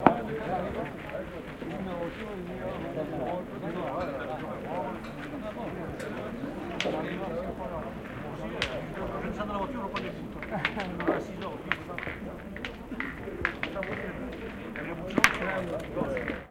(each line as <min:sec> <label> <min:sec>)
0:04.6 competitive Boules 0:16.5